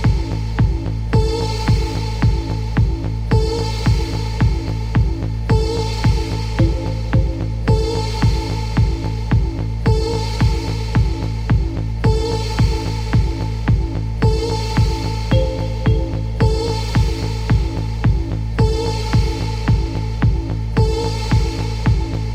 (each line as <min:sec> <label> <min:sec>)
0:06.6 synth 0:08.1
0:15.3 synth 0:17.2